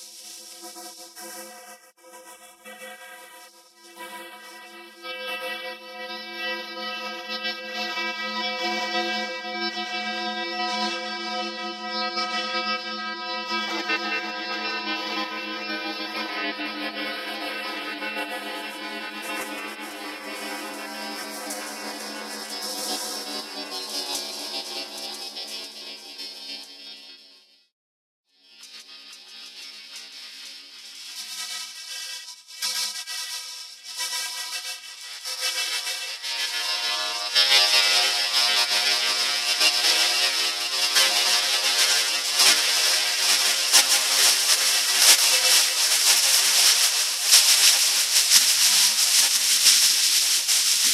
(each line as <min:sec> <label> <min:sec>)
0:18.2 pipe 0:25.6
0:42.1 pipe 0:50.9